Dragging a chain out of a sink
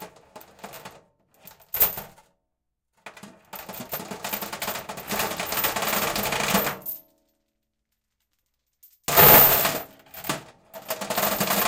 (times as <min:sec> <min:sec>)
0:09.0 0:11.6